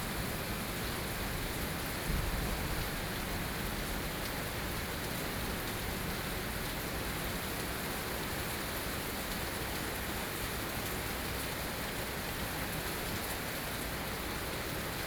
Thunderstorm 2.0 - 3.7

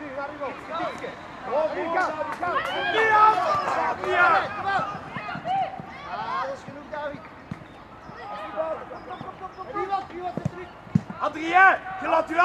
distant birds 0.0 - 12.3
Coaches shouting instructions at the young players 0.0 - 12.4
busses and cars passing by on the road 0.0 - 12.4

